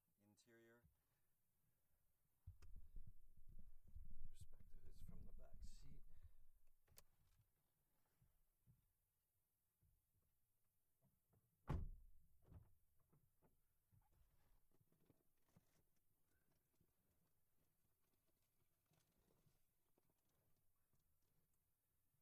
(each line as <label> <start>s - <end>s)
opening and shutting doors and windows 11.7s - 12.6s